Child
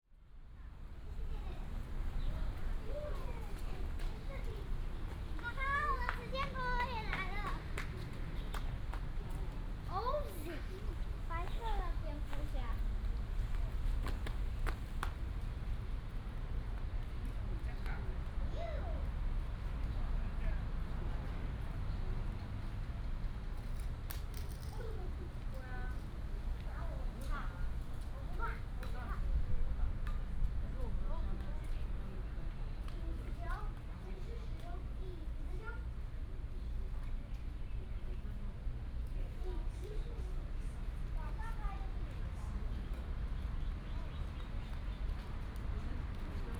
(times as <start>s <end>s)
1.0s 8.7s, 9.9s 12.9s, 18.5s 19.2s, 24.4s 26.0s, 26.7s 29.3s, 32.9s 36.0s, 39.4s 42.4s